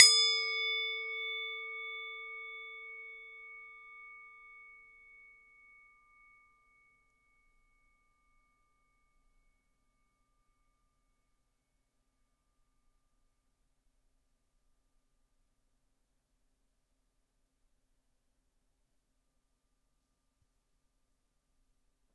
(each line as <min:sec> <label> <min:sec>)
0:00.0 Singing bowl struck 0:07.3